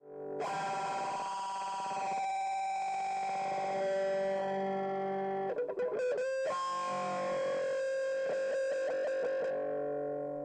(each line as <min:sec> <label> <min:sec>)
0:00.4 electric guitar squeal 0:10.3